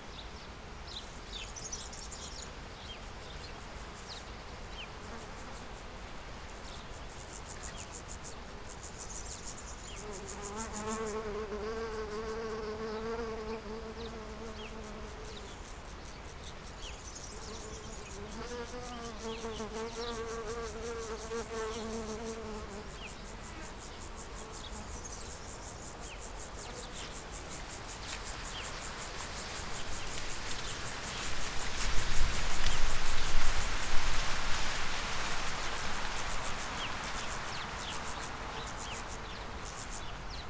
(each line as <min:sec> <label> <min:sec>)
0:00.0 wind in cornfield 0:40.4